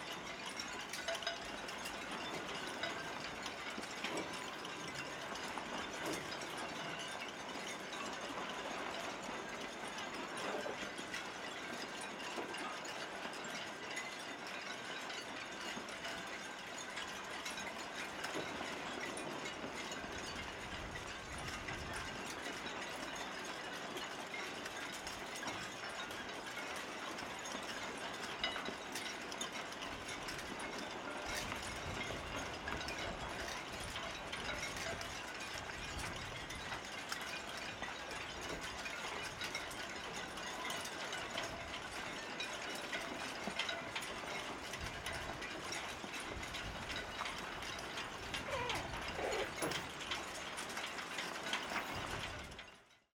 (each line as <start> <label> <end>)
47.2 Kleines Flugzeug 52.1